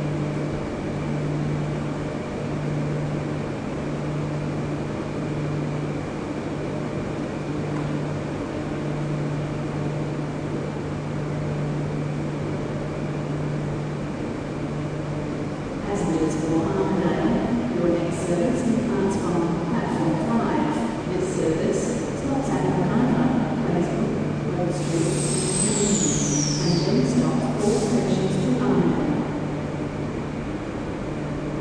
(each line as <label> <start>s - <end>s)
train 0.0s - 31.6s